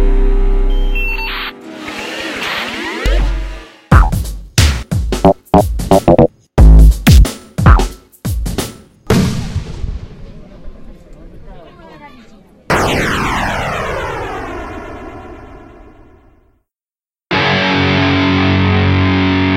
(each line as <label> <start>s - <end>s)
Rocket 12.7s - 16.5s